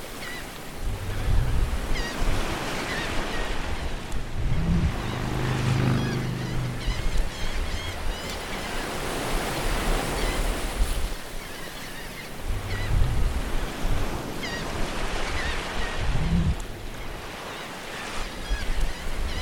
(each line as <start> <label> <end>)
0.0 sea 19.4